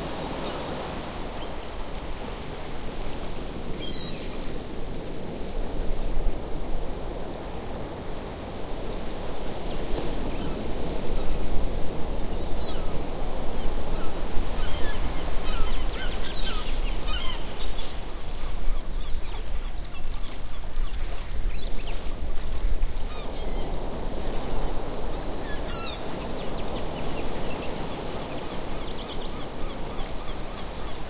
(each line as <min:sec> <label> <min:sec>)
0:00.0 waves 0:31.0
0:09.2 Seagull on beach 0:31.0